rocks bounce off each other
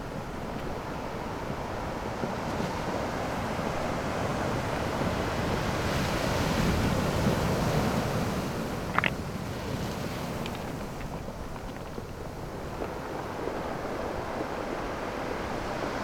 8.5s 13.6s

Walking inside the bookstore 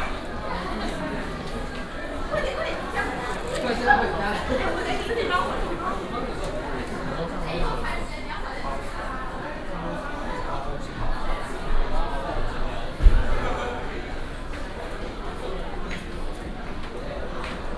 0.0s 8.3s

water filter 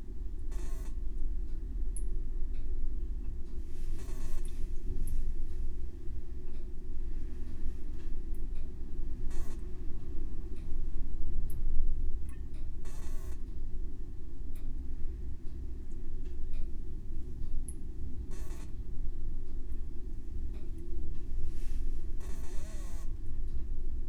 3.7s 5.3s, 22.2s 23.2s

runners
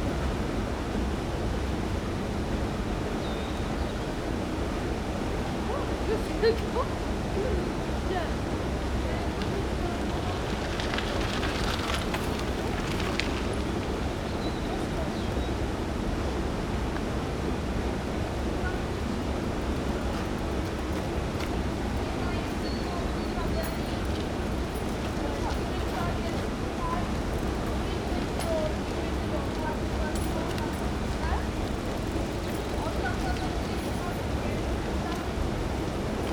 8.9s 14.4s, 18.8s 36.3s

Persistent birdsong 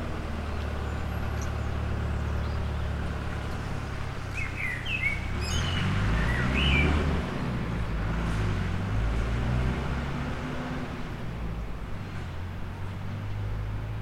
0.0s 8.4s

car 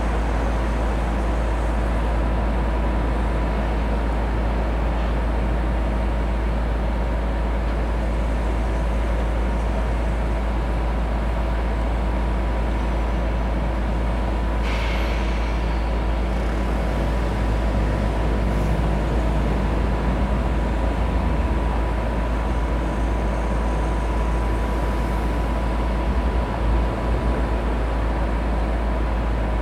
13.7s 29.6s

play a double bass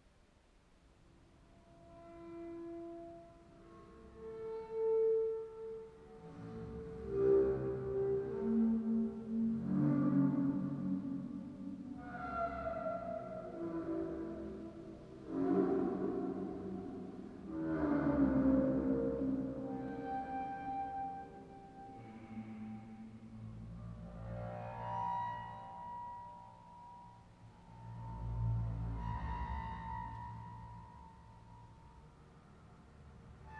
6.1s 25.6s

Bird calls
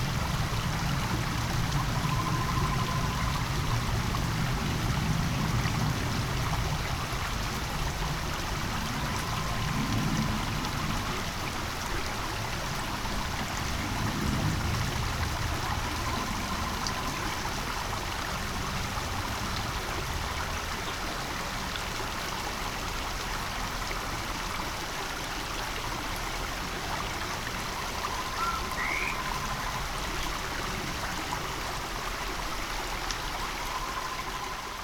28.0s 29.8s

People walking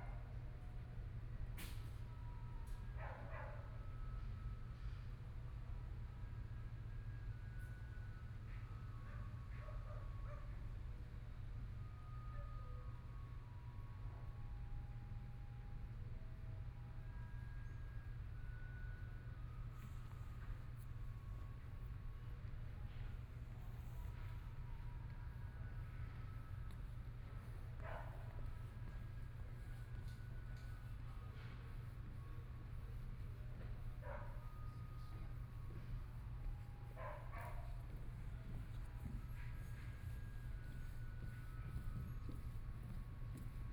34.7s 43.7s

